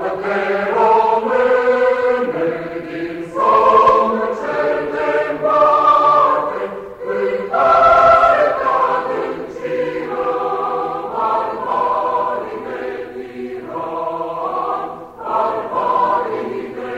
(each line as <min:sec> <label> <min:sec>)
0:00.0 Sung by mixed choir 0:16.9